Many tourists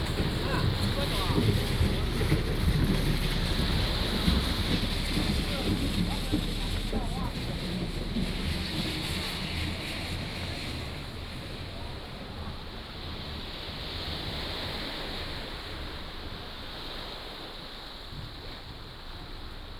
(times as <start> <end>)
0.0 13.9